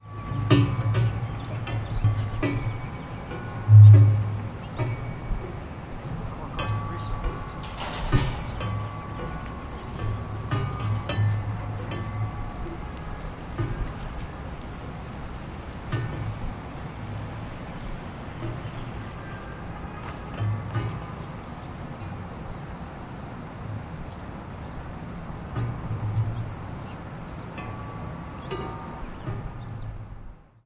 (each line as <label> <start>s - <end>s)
wind chimes 0.0s - 25.0s